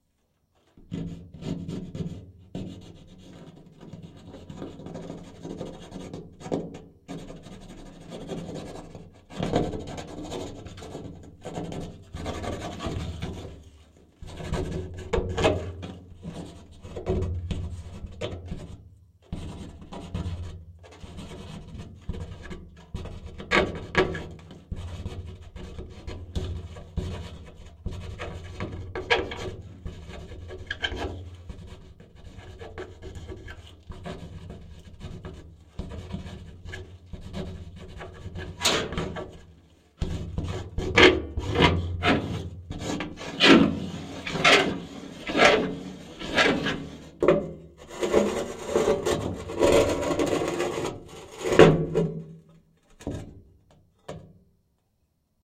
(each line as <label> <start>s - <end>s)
Rubbing a plastic cup upside down on the surface 7.2s - 52.4s